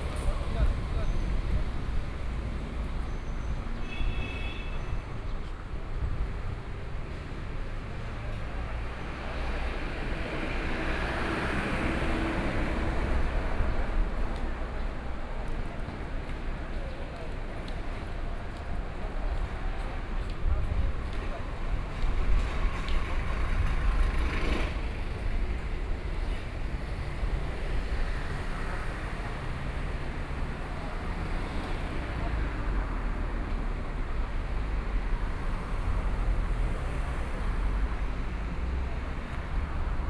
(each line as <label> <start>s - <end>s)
Traffic Sound 0.0s - 40.0s